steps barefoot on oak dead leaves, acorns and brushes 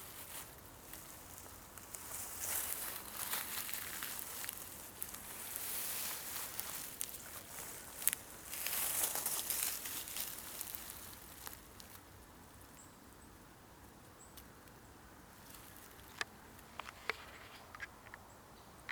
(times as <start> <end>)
0.0 12.1